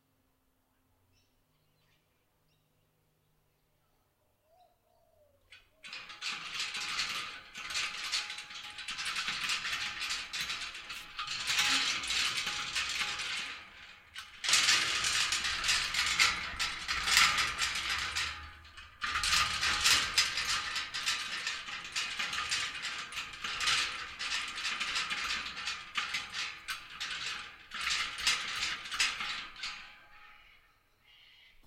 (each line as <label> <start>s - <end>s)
iron fence being shaken 5.5s - 30.5s